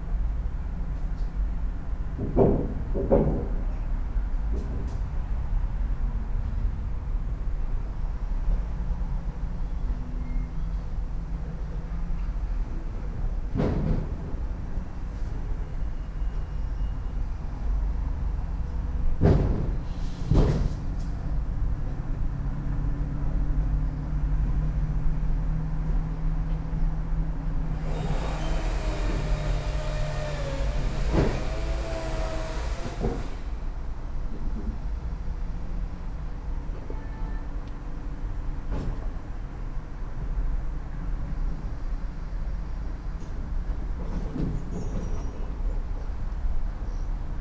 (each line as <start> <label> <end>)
27.7 saw machinery sounds 33.8
27.7 wood rumble 33.8